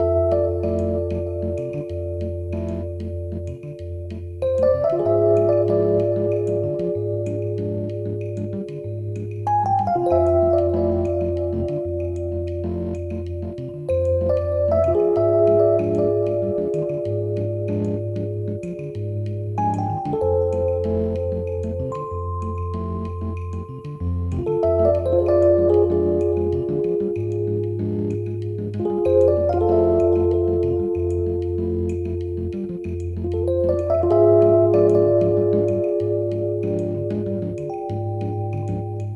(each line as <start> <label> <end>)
0.0 percussion 39.1
0.0 synth 39.1